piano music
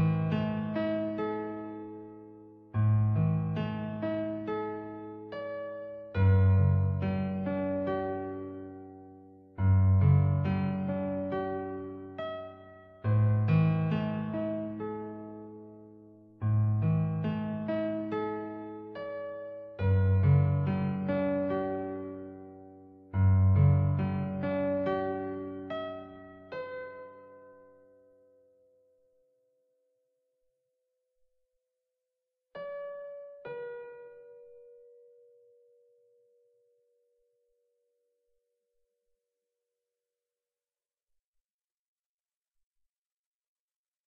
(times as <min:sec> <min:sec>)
0:00.0 0:28.3, 0:32.6 0:36.2